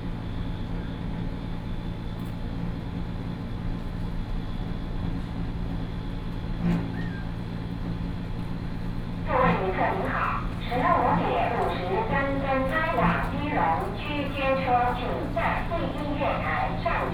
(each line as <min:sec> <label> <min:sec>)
0:00.0 Noise air conditioning unit 0:17.1
0:09.2 train arrived 0:17.1
0:09.3 Mobile voice 0:17.1
0:09.3 Sound broadcasting station 0:17.1